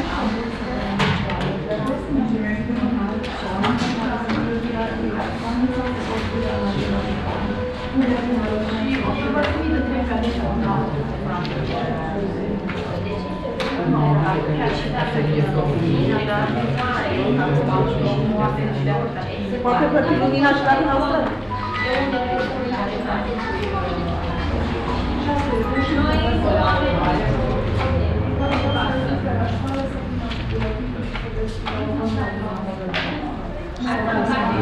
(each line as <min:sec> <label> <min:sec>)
0:00.0 electronic and mechanical sounds of different kind of bank machines 0:34.6
0:00.0 people talking in the waiting line 0:34.6
0:21.2 traffic noise coming in through the display window 0:34.6